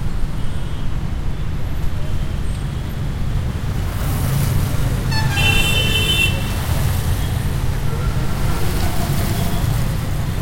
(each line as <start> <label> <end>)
0.0 cars 10.4
1.6 tuktuks 10.4